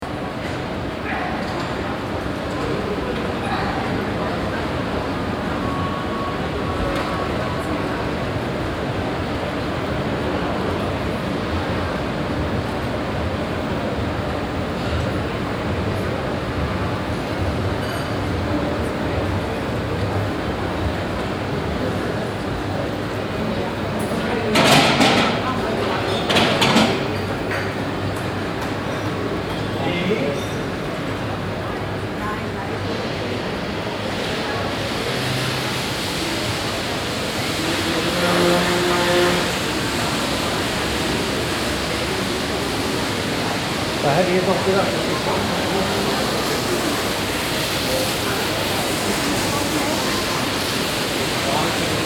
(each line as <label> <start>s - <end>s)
people 0.0s - 52.0s
rolling staircase 4.5s - 52.0s
fountain 33.9s - 52.0s